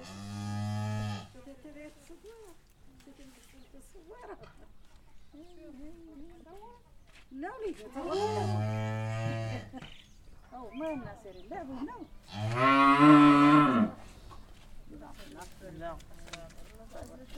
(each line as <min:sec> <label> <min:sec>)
0:01.0 femmes discutent 0:17.3